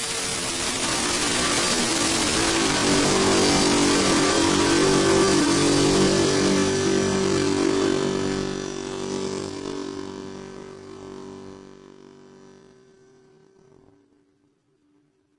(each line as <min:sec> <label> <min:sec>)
0:00.0 guitar effects 0:12.0